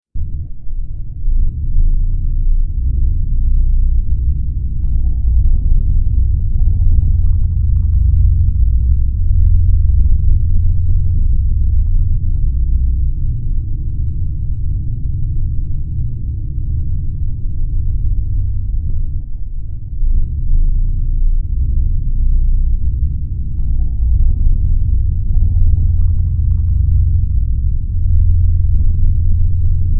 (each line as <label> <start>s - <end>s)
Drone 0.2s - 29.9s